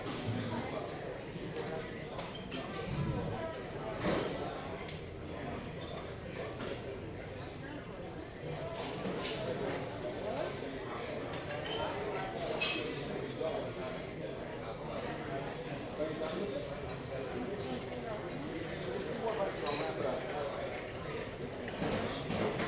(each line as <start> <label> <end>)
11.3 cutlery and dishes 13.0
21.6 cutlery and dishes 22.6